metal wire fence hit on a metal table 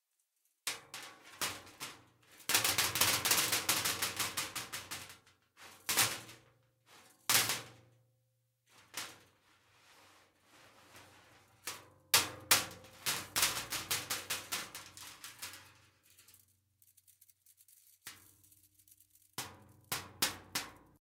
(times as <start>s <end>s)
0.7s 7.8s, 8.7s 9.4s, 11.5s 16.4s, 19.3s 21.0s